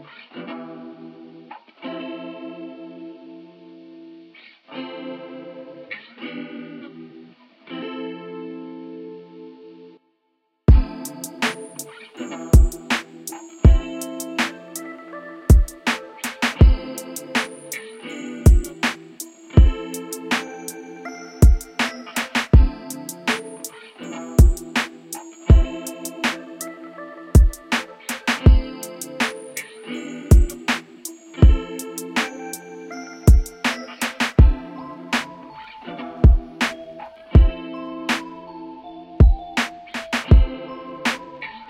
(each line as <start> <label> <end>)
10.7 drum loop 14.8
15.5 drum loop 17.8
18.4 drum loop 20.8
21.4 drum loop 23.7
24.4 drum loop 26.5
27.4 drum loop 29.6
30.3 drum loop 32.6
33.3 drum loop 34.6
36.2 drum loop 36.8
37.4 drum loop 38.2
39.2 drum loop 41.2